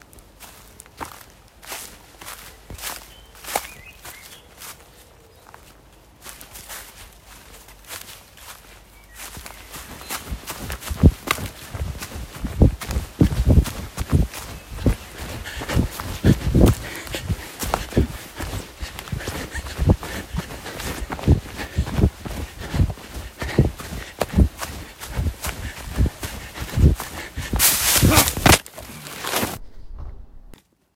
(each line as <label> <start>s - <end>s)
walking through woods 0.0s - 29.7s
running 9.2s - 29.5s
pantning 10.6s - 28.6s
falling 26.8s - 30.3s